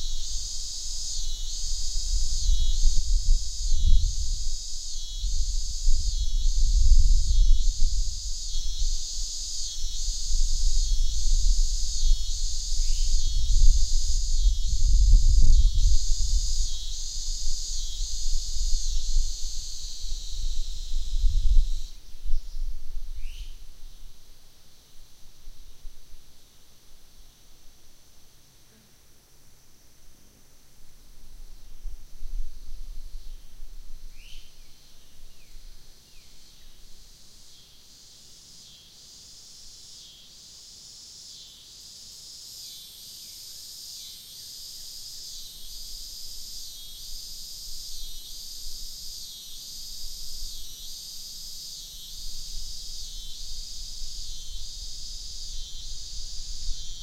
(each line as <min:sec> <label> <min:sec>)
0:00.0 insects' droning 0:57.0